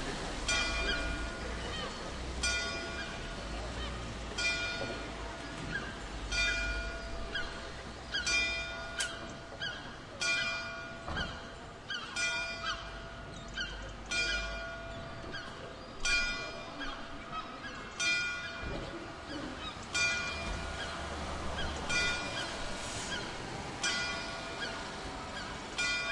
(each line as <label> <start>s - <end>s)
bell 0.5s - 1.7s
bell 2.4s - 3.6s
bell 4.3s - 5.7s
bell 6.3s - 7.4s
bell 12.1s - 15.4s
bell 16.0s - 16.9s
bell 20.0s - 20.9s
bell 21.9s - 22.4s
bell 23.8s - 25.0s
bell 25.8s - 26.1s